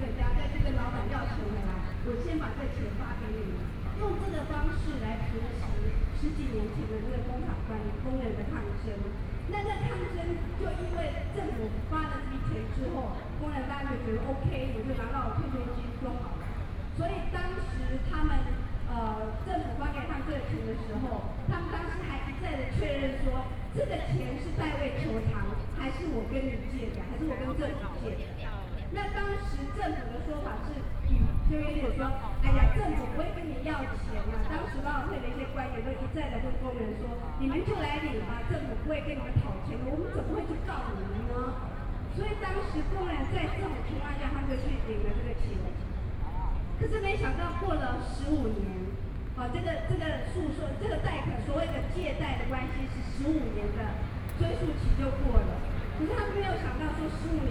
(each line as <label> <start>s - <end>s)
Traffic Noise 0.0s - 57.5s